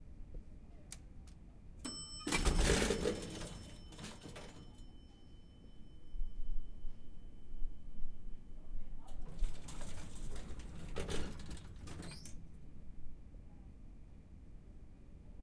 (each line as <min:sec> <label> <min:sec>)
0:01.8 ding 0:08.5
0:01.9 elevator door 0:05.1
0:09.1 elevator door 0:12.6